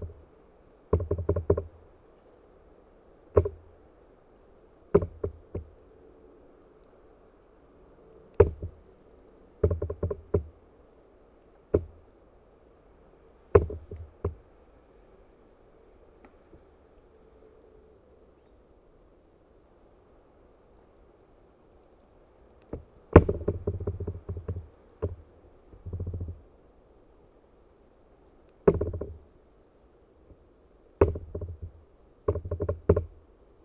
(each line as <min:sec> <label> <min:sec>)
0:00.0 rubbing trees 0:02.3
0:03.2 rubbing trees 0:03.8
0:05.0 rubbing trees 0:05.8
0:08.4 rubbing trees 0:08.8
0:09.6 rubbing trees 0:10.7
0:11.7 rubbing trees 0:12.1
0:13.2 rubbing trees 0:14.5
0:22.6 rubbing trees 0:26.6
0:28.6 rubbing trees 0:29.4
0:31.0 rubbing trees 0:33.4